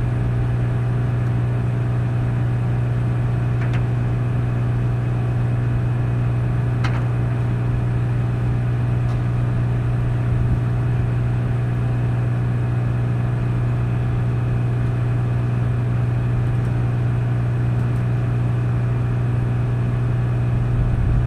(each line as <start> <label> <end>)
0.0 Mechanical hum 21.2